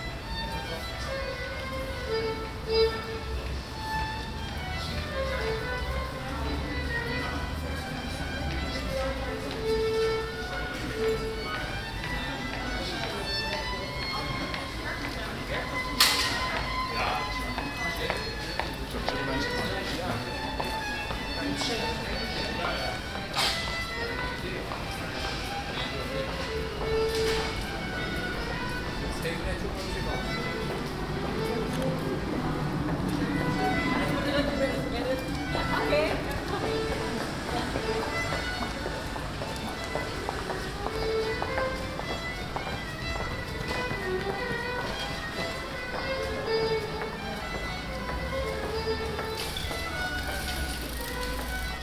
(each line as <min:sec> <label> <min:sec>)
0:00.0 Pedestrians 0:51.8
0:00.0 violist 0:51.8
0:26.8 cyclists 0:41.6
0:47.7 cyclists 0:51.8